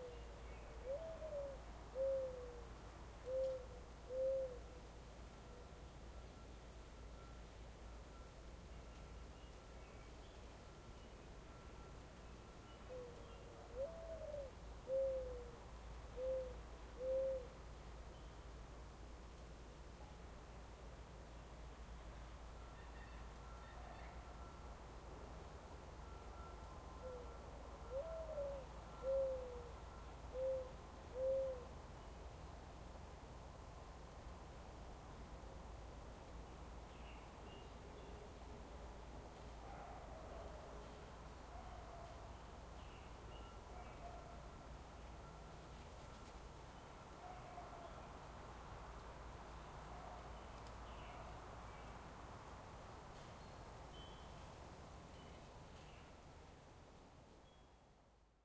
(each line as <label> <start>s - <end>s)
reoccurring American Mourning Dove calling 0.0s - 18.7s
light wind 0.0s - 58.4s
reoccurring American Mourning Dove calling 25.6s - 32.3s
reoccurring American Mourning Dove calling 36.9s - 48.2s
reoccurring American Mourning Dove calling 49.5s - 52.0s